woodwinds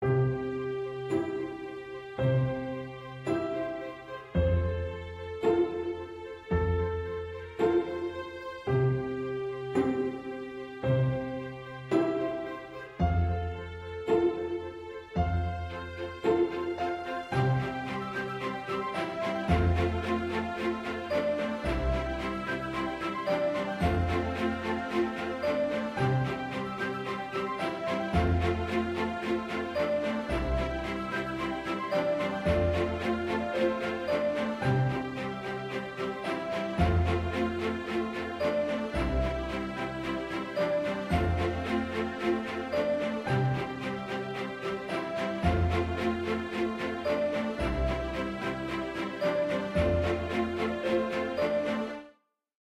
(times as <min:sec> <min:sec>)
0:17.3 0:51.9